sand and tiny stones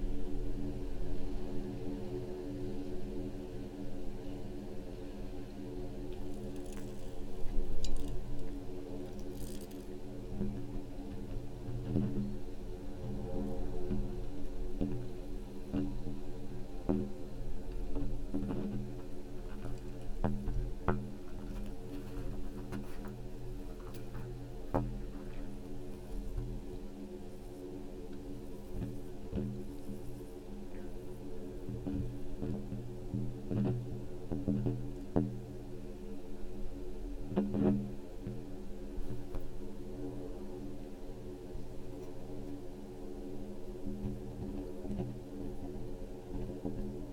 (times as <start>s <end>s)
6.0s 12.4s